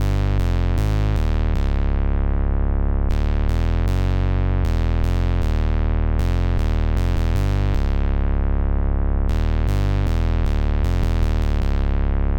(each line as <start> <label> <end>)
0.0 square bass loop 12.3